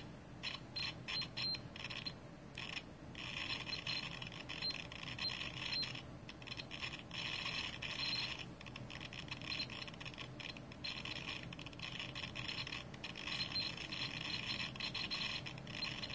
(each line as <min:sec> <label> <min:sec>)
0:00.4 beeping 0:16.1